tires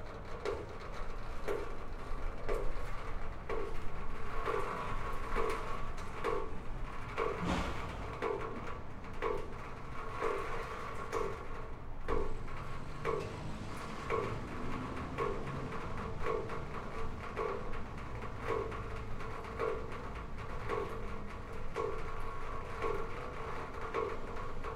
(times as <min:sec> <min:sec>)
0:12.5 0:19.3